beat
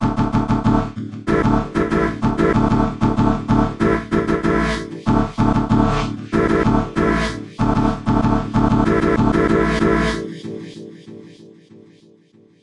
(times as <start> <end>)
0.0 10.0